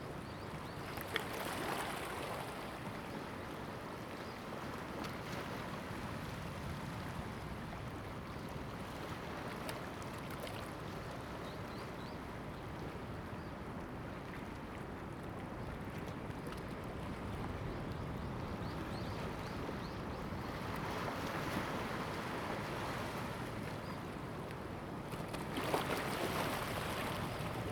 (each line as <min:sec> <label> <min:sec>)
0:00.0 waves 0:27.7